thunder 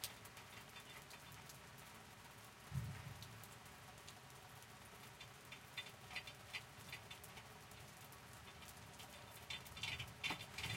2.7 3.2

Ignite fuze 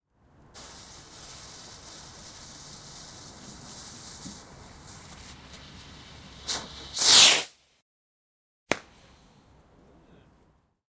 0.6 7.6

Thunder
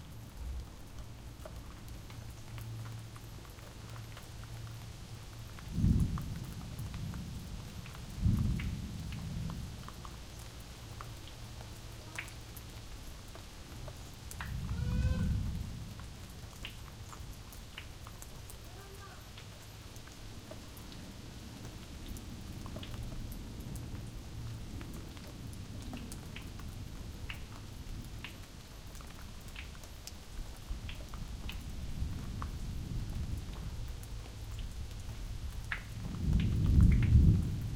5.7 7.4, 8.2 9.6, 36.0 37.7

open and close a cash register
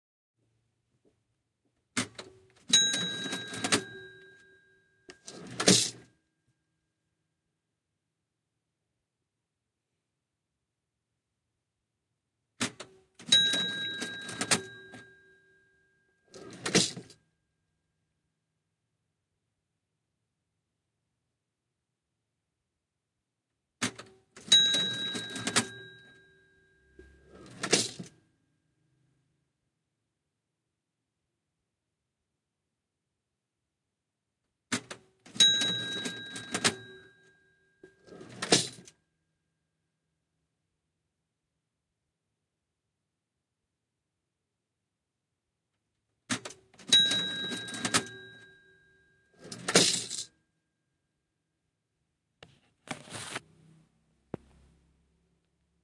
2.0 4.5, 5.1 6.1, 12.6 15.1, 16.3 17.2, 23.8 26.2, 27.1 28.1, 34.7 37.2, 37.8 39.0, 46.3 48.5, 49.4 50.3

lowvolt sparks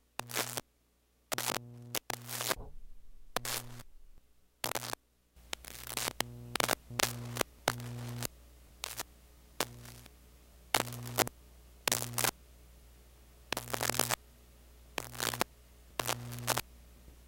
0.2 0.6, 1.3 10.1, 10.8 11.3, 11.9 12.3, 13.5 14.2, 15.0 16.6

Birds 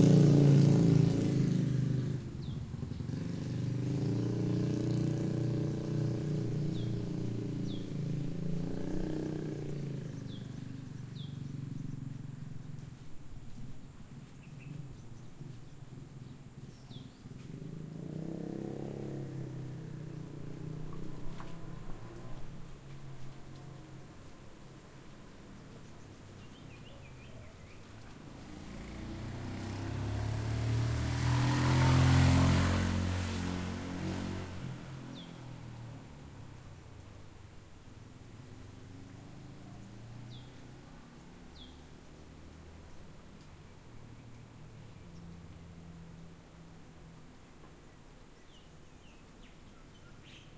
2.2 23.9, 25.3 29.8, 47.7 50.5

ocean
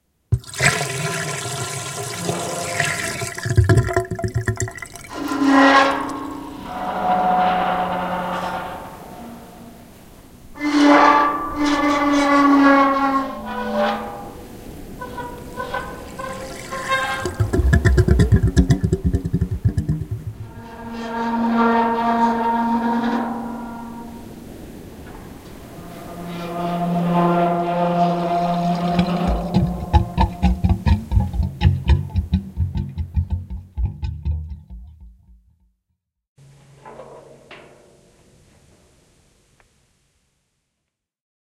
13.6 20.8, 22.0 31.4

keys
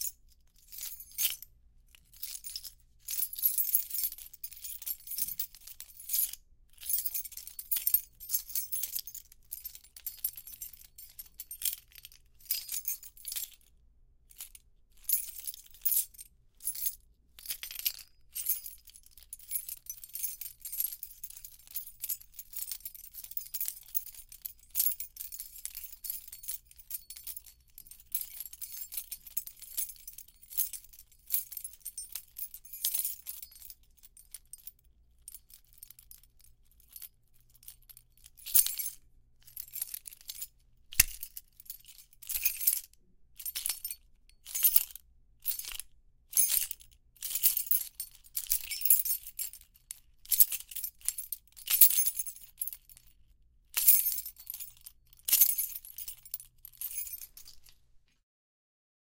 2.2 6.2, 19.5 34.7, 35.3 42.8, 53.8 57.8

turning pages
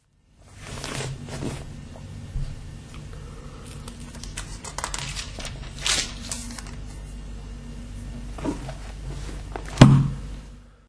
0.5 1.7, 3.6 7.1

